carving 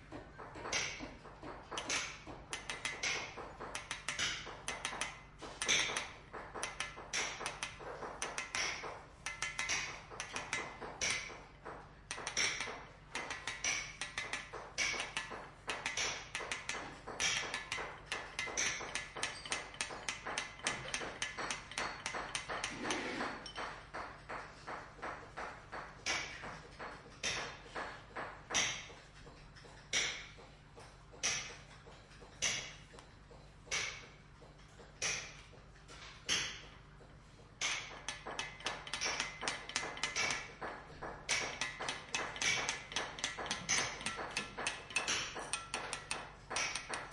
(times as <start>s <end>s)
15.8s 23.6s, 37.6s 47.1s